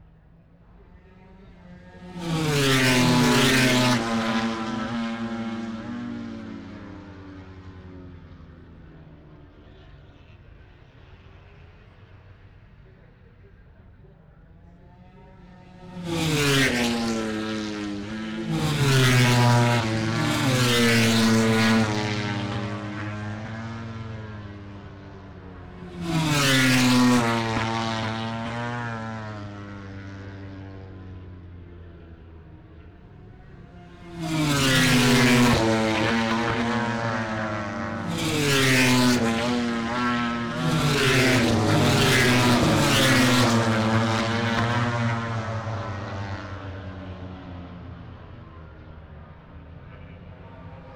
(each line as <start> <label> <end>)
0.0 motorcycle grand prix 50.9